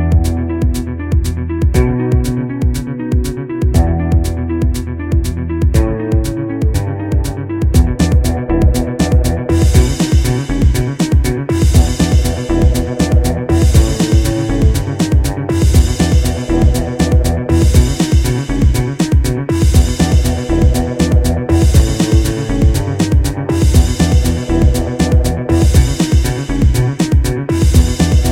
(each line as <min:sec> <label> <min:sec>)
0:00.0 Background music 0:28.3